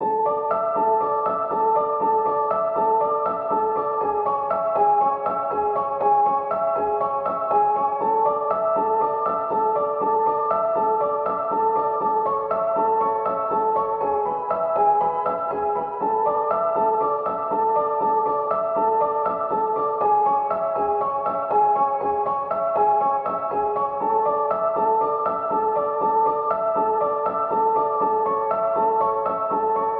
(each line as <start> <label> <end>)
0.0 piano 29.9